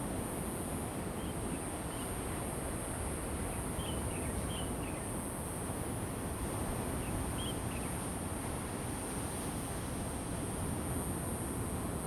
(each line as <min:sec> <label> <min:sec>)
0:00.0 wind 0:12.0